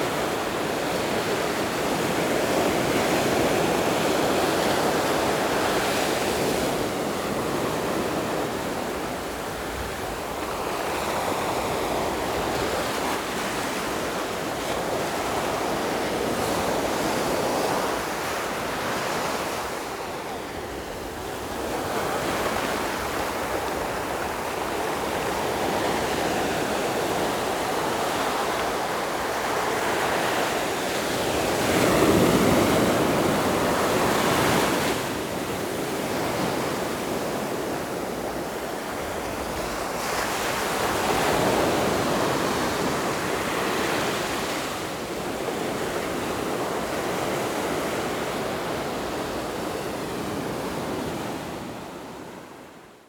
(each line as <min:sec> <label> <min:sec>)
0:00.0 waves 0:52.9